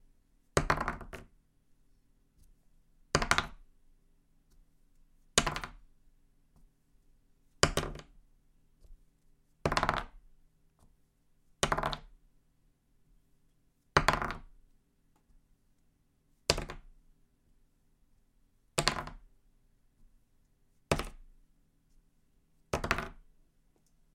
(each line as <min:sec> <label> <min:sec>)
0:00.6 Plastic dice (1) rolling on a piece of paper 0:01.3
0:05.4 Plastic dice (1) rolling on a piece of paper 0:05.8
0:07.6 Plastic dice (1) rolling on a piece of paper 0:08.2
0:09.6 Plastic dice (1) rolling on a piece of paper 0:10.2
0:11.6 Plastic dice (1) rolling on a piece of paper 0:12.2
0:13.9 Plastic dice (1) rolling on a piece of paper 0:14.6
0:16.5 Plastic dice (1) rolling on a piece of paper 0:16.9
0:18.8 Plastic dice (1) rolling on a piece of paper 0:19.3
0:22.7 Plastic dice (1) rolling on a piece of paper 0:23.3